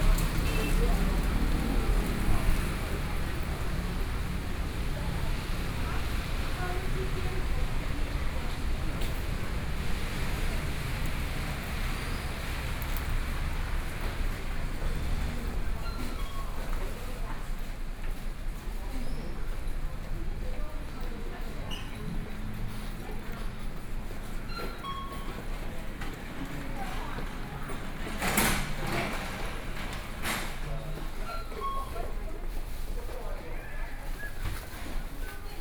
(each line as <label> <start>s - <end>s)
Rainy Day 0.0s - 18.3s
Rainy Day 25.8s - 31.1s